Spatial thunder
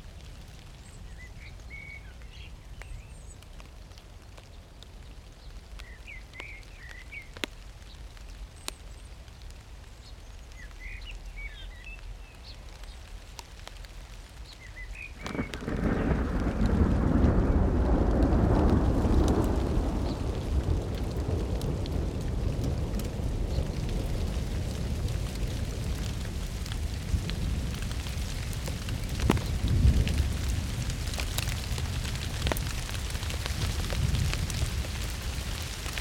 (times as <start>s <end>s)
15.2s 33.0s